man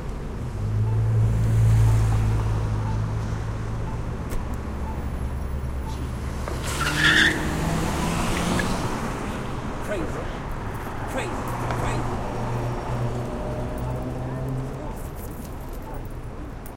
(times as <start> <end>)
9.8 12.2